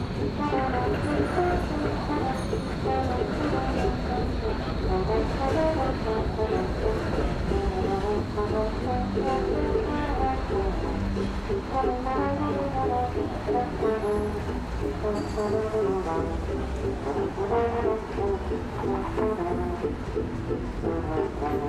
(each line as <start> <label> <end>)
0.0 Zwei Strassenmusiker 21.6